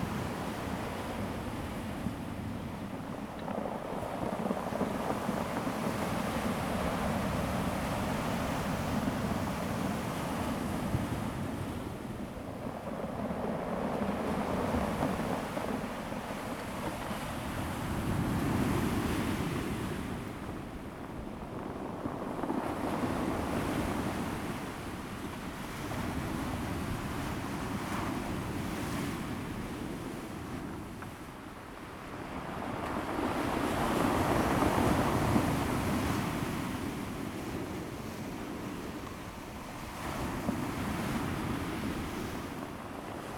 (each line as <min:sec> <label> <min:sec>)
0:00.0 waves 0:43.3